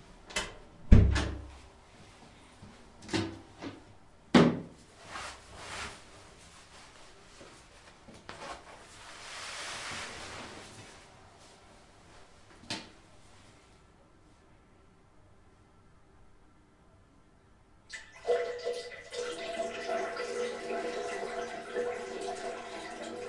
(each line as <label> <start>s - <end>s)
flushing 17.9s - 23.2s